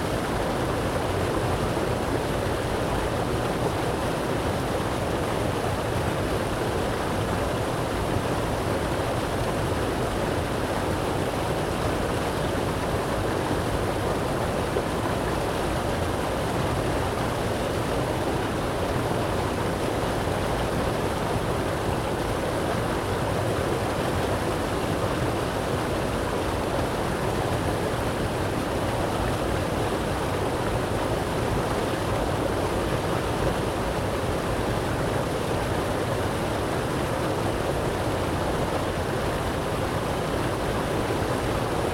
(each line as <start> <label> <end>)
0.0 old water dam 41.9